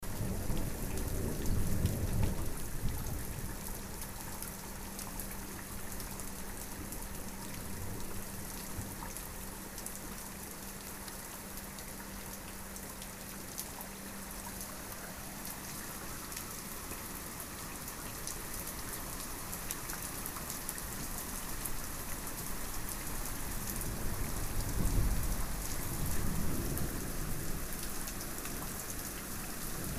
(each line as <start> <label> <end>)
0.0 rain 29.9